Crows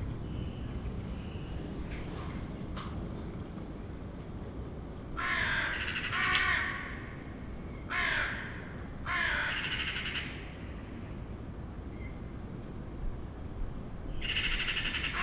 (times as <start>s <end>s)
5.2s 7.0s, 7.9s 10.4s